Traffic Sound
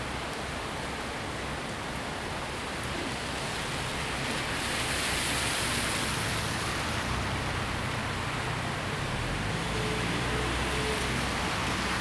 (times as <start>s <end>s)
4.6s 12.0s